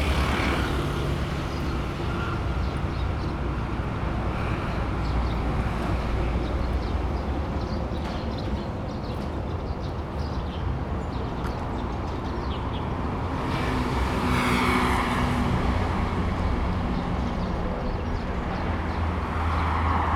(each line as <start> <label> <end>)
0.0 Traffic sound 20.1